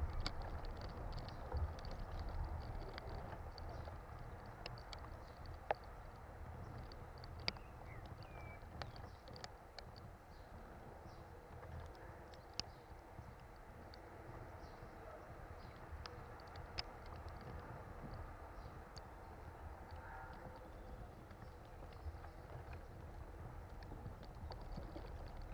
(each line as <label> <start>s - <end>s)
Palm tree fibres inn wind 0.0s - 25.5s
close bird song 0.0s - 25.5s